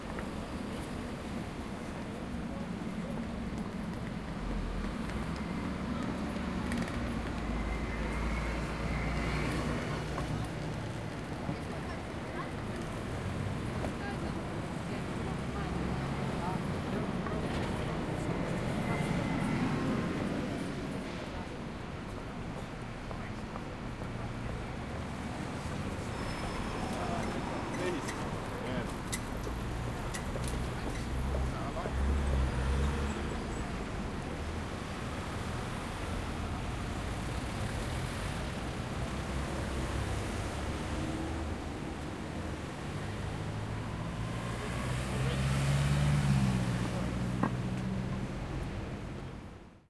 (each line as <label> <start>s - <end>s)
Traffic 0.0s - 49.8s
Voices 0.0s - 49.4s